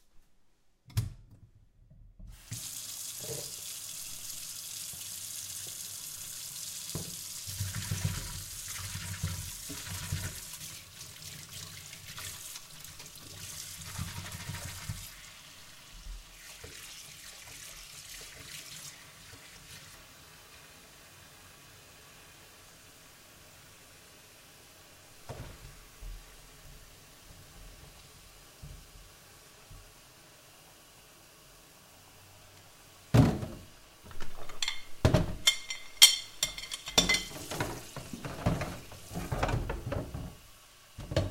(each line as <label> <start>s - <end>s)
dishes 34.1s - 40.3s